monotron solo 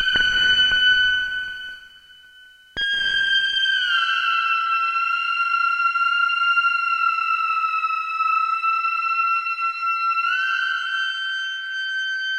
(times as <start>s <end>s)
0.0s 4.4s